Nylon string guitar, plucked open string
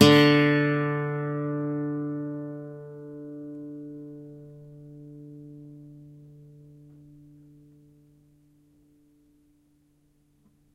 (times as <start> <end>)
0.0 8.4